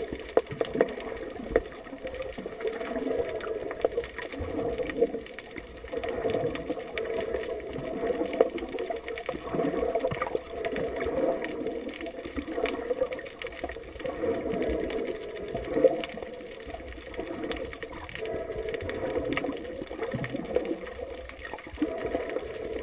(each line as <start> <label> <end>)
0.0 Underwater sound 22.8